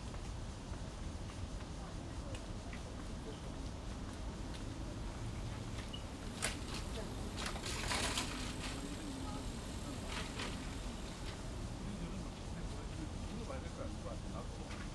0.1s MRT trains through 14.9s
4.4s Bicycle sound 11.8s

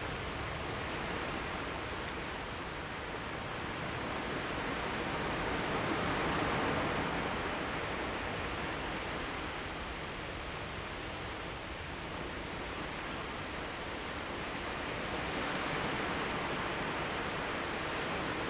0.0s waves 11.0s
12.1s waves 18.4s

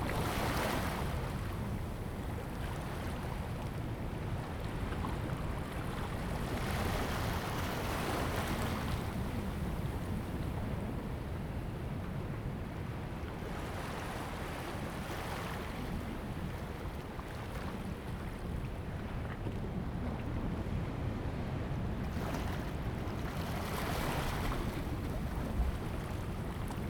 0.0s wind 26.8s

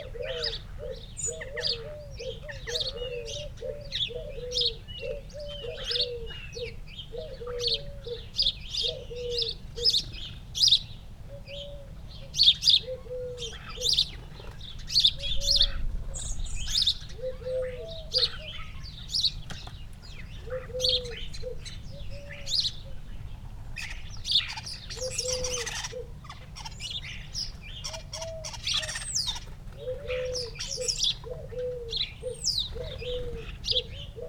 0.0s blackbird 34.2s
0.0s blue tit 34.2s
0.0s collared dove 34.2s
0.0s house sparrow 34.2s
20.1s starling calls 34.2s
27.8s crow 32.0s

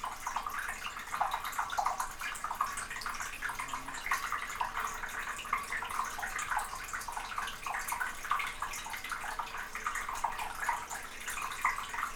0.0s waterpipe 12.1s

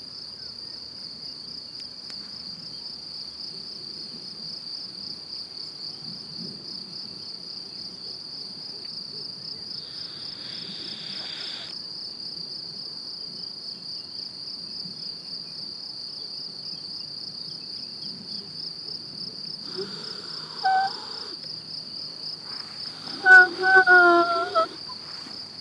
19.5s winds 25.6s
19.7s birds 21.4s
19.7s grass whistle 21.4s
22.5s birds 25.6s
22.5s grass whistle 25.4s

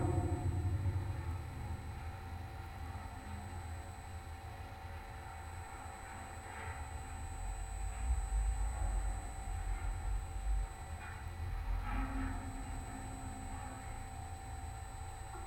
0.0s big metallic light tower 4.0s
0.0s surrounding electromagnetic field 15.4s

